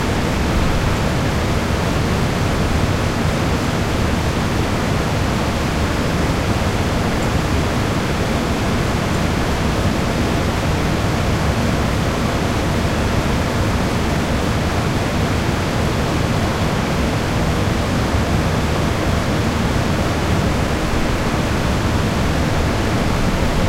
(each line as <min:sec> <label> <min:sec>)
0:00.0 fan 0:23.6